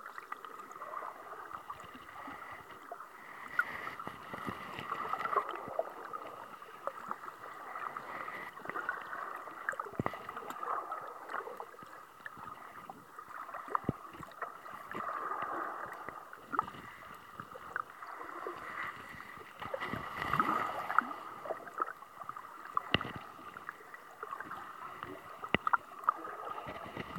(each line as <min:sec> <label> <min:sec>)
0:00.0 activity of the tide 0:27.1
0:01.5 scraping noises as the same tide pushes the hydrophone against the rocks 0:10.7
0:15.8 scraping noises as the same tide pushes the hydrophone against the rocks 0:22.0
0:22.7 scraping noises as the same tide pushes the hydrophone against the rocks 0:27.1